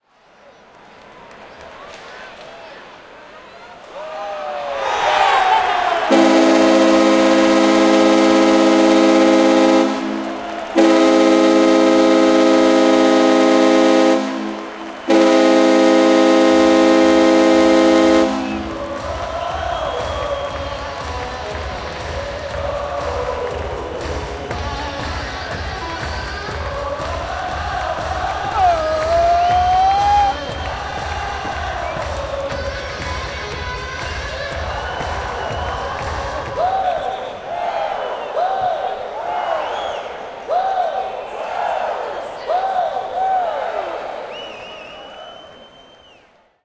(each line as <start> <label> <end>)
6.1 horn 19.4